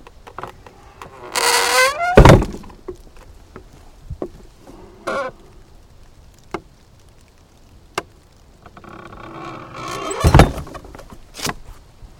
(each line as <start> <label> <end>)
0.0 wind 12.1
0.2 creaking sounds 3.3
4.6 creaking sounds 5.6
8.6 creaking sounds 11.5